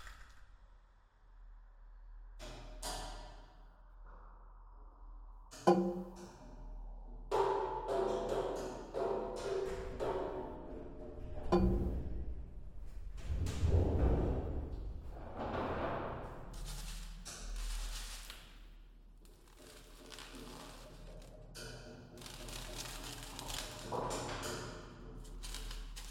reverberation of the container 0:00.0 - 0:26.1
rubbing foam on the walls 0:19.2 - 0:26.1

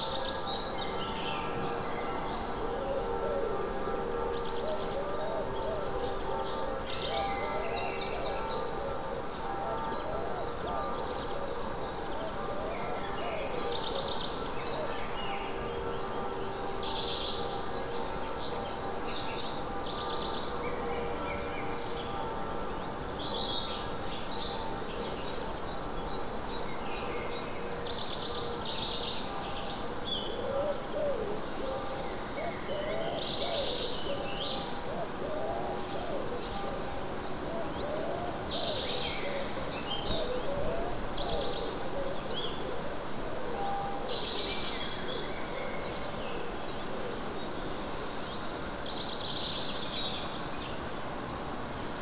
Birds 0:00.0 - 0:52.0
bells from a Catholic church 0:00.0 - 0:52.0

